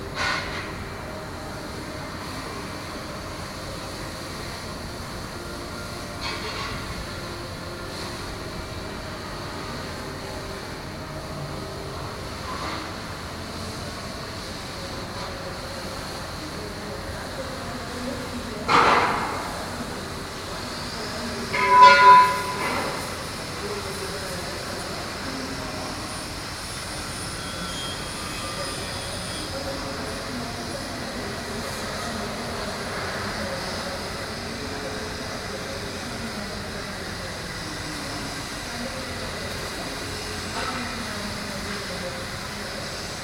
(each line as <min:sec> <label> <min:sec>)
0:00.0 Small factory ambiance 0:43.2